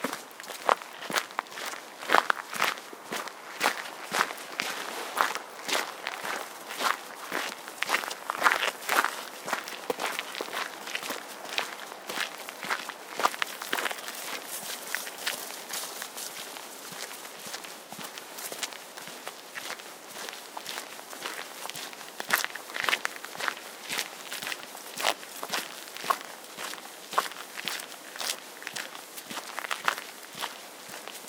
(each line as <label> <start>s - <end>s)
footsteps 0.0s - 31.2s